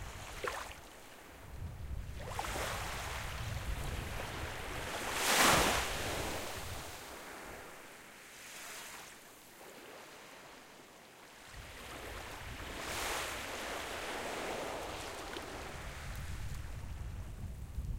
waves 0.0 - 17.9

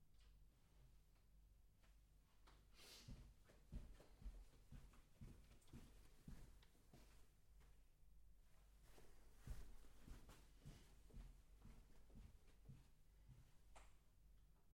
Footsteps on a Carpet 1.8 - 7.8
Footsteps on a Carpet 8.5 - 13.7

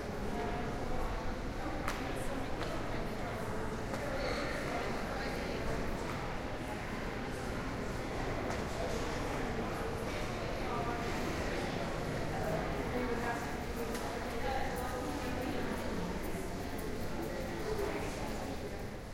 people 0.0 - 19.1

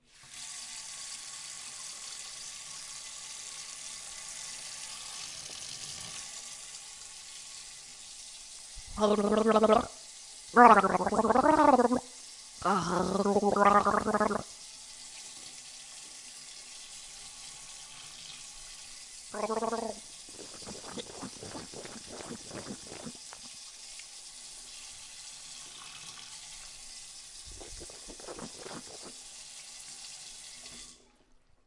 Gargling with water 8.8 - 10.0
Gargling with water 10.6 - 14.5
Gargling with water 19.3 - 23.5
Gargling with water 27.4 - 29.2

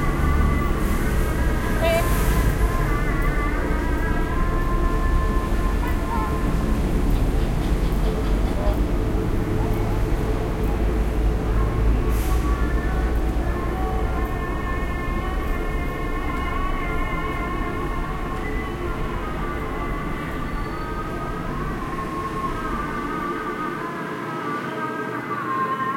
call to prayer 0.0 - 6.7
noise from the traffic 0.0 - 25.9

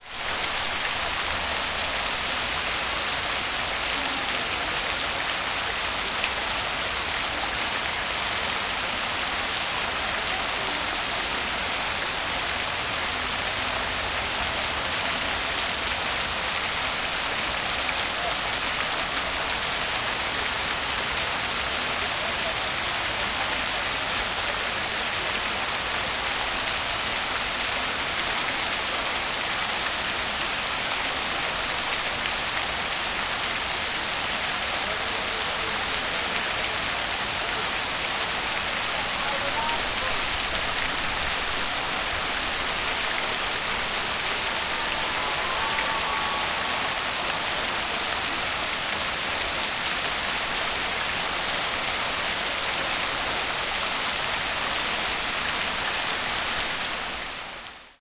Fountain 0.0 - 58.0

